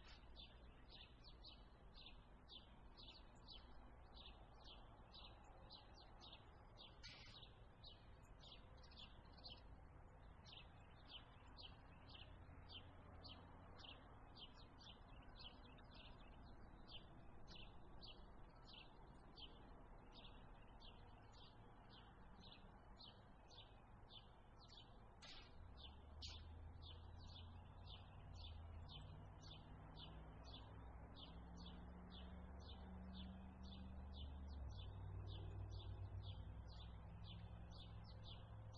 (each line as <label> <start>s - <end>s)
Misc bird calls 0.0s - 38.7s
light traffic 0.0s - 38.7s